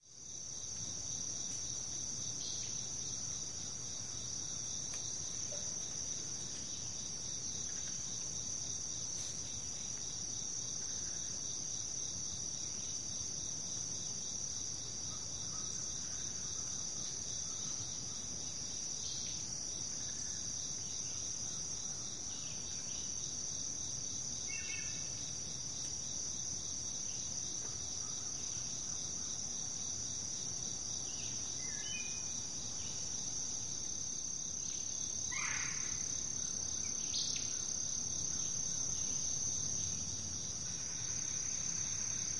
continual chorus of crickets 0:00.0 - 0:42.3
other insects 0:00.0 - 0:42.3

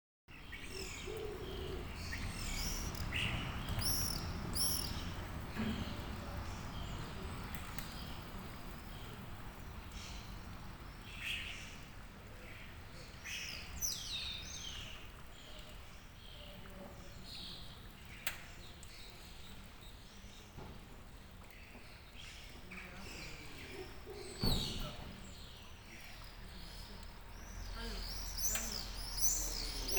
fountain 0:00.4 - 0:29.9
voices of passers-by in the distance 0:00.4 - 0:29.9
cars pass through the square 0:00.5 - 0:18.8
pigeons 0:00.5 - 0:10.0
pigeons 0:21.4 - 0:27.7

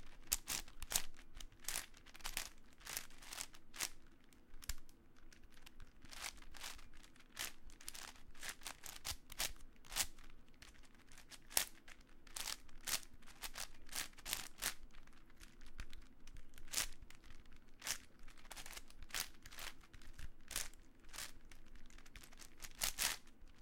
quick solve of a 8x8x8 Cube 0:00.0 - 0:23.6

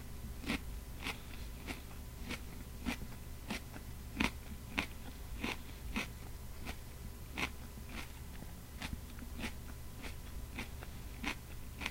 bite off a piece of carrot 0:00.4 - 0:11.9
eats a delicious, sweet and crisp carrot 0:00.4 - 0:11.9

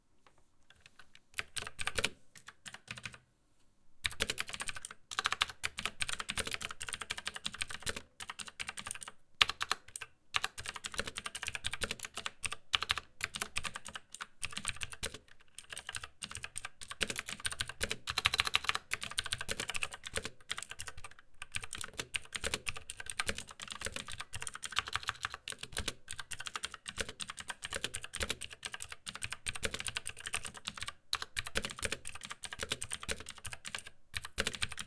Slower mechanical keyboard typing 0:00.7 - 0:03.2
Slower mechanical keyboard typing 0:04.0 - 0:34.8

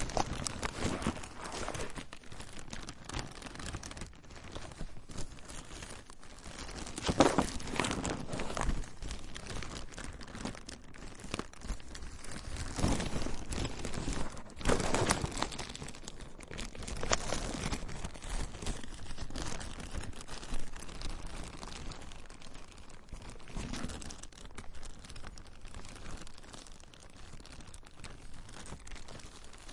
Plastic Bag 2 Crinkle 0:00.0 - 0:29.7

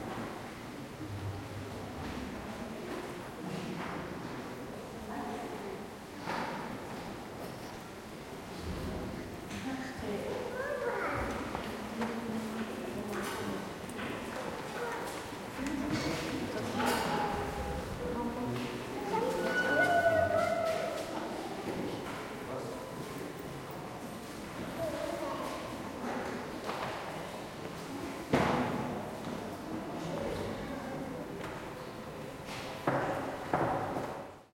People 0:08.5 - 0:33.8
child 0:10.5 - 0:11.5
child 0:14.6 - 0:15.2
child 0:19.0 - 0:21.2
child 0:24.8 - 0:25.7

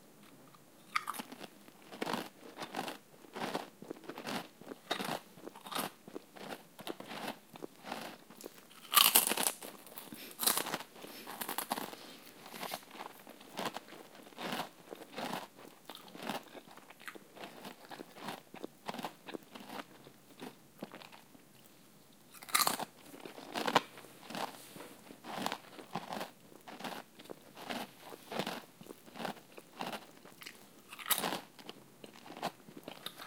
Chips Eating Crunching 0:00.9 - 0:21.3
Chips Eating Crunching 0:22.3 - 0:24.6
Chips Eating Crunching 0:25.2 - 0:33.2

